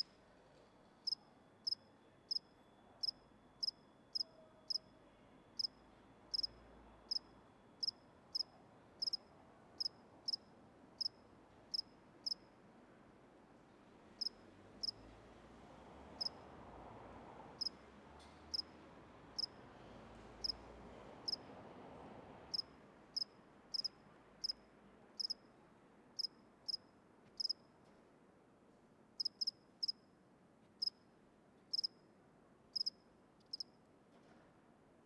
1.0s lonely cricket in ivy bush 4.9s
5.5s lonely cricket in ivy bush 12.5s
14.2s lonely cricket in ivy bush 15.0s
16.2s lonely cricket in ivy bush 16.4s
17.6s lonely cricket in ivy bush 17.8s
18.5s lonely cricket in ivy bush 18.7s
19.4s lonely cricket in ivy bush 19.6s
20.4s lonely cricket in ivy bush 20.6s
21.2s lonely cricket in ivy bush 21.5s
22.5s lonely cricket in ivy bush 24.6s
25.2s lonely cricket in ivy bush 25.5s
26.2s lonely cricket in ivy bush 27.7s
29.2s lonely cricket in ivy bush 30.1s
30.8s lonely cricket in ivy bush 31.0s
31.7s lonely cricket in ivy bush 32.0s
32.7s lonely cricket in ivy bush 33.8s

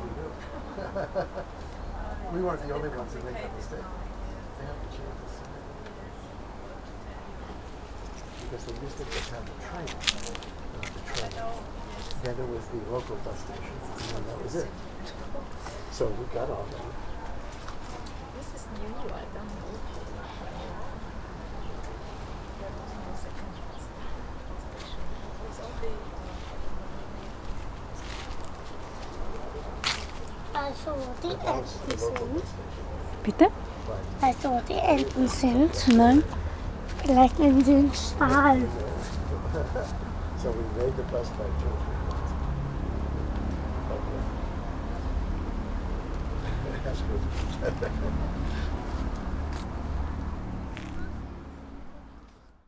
0.0s people 45.1s
29.8s young boy 39.3s
46.3s people 49.6s

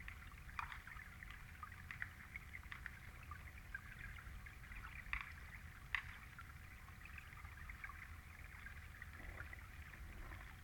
4.9s snow falling onto the lake 6.4s

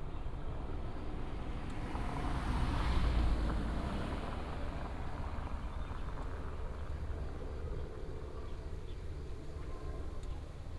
4.3s Helicopter 10.7s

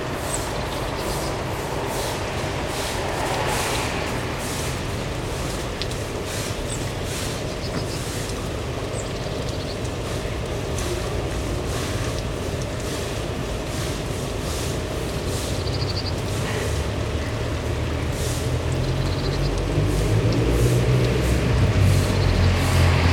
0.0s sweep the floor of their backyard 8.4s
0.0s cars 13.7s
0.0s rain 23.1s
12.8s sweep the floor of their backyard 15.7s
14.3s cars 23.1s
18.0s sweep the floor of their backyard 18.9s
19.7s sweep the floor of their backyard 23.1s

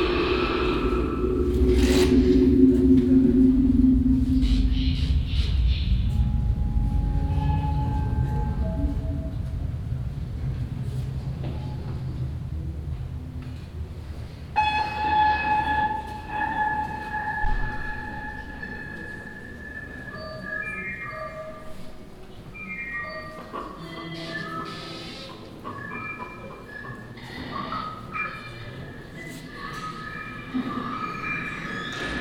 0.0s sound art students performing a staircase music 32.2s

